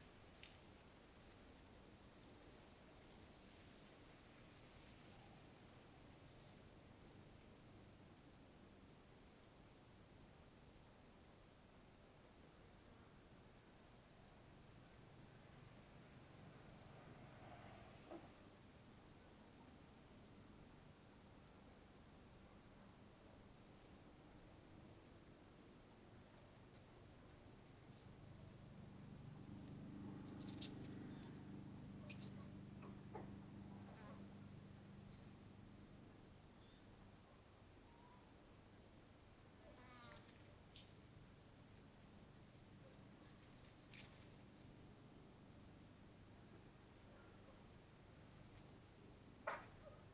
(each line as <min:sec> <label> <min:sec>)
0:15.1 distant motorcycles 0:19.1
0:26.8 distant motorcycles 0:37.0
0:27.9 Birds 0:35.5
0:39.6 flys 0:40.9
0:41.8 distant motorcycles 0:50.1